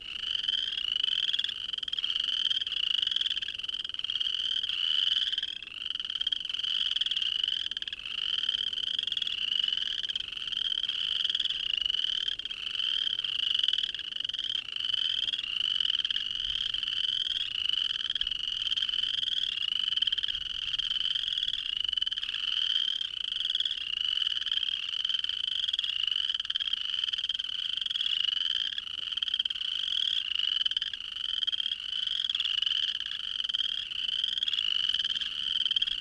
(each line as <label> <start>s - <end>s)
loud chorus of chirping frogs 0.0s - 36.0s